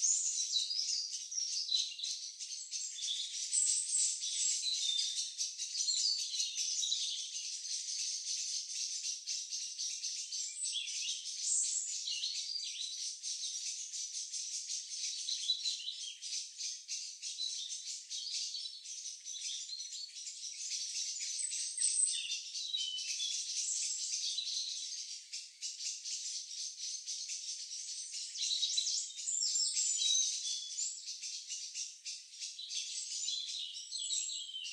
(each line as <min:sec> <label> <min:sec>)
0:00.0 Bird sounds in the trees above 0:34.7